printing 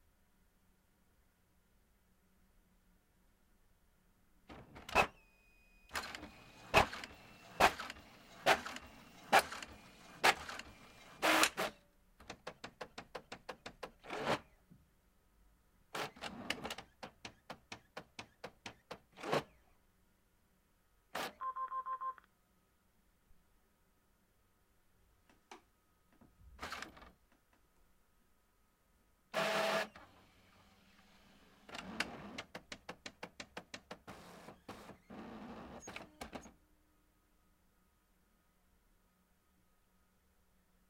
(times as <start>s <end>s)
5.9s 11.8s